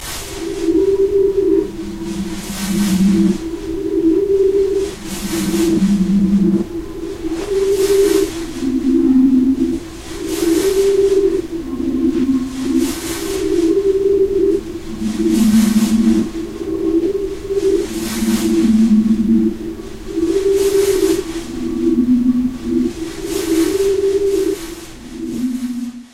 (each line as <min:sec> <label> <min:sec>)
0:00.0 old mystic Engine 0:26.1